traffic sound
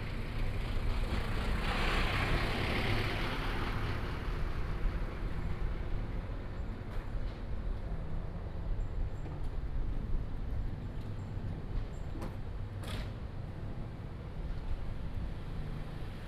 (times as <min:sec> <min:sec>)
0:00.0 0:09.4